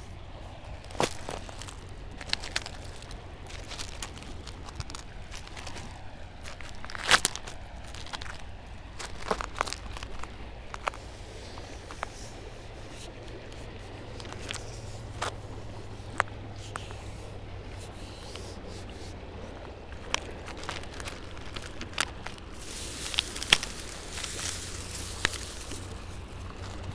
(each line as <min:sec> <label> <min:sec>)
0:00.0 gravel walk 0:26.9
0:00.0 river 0:26.9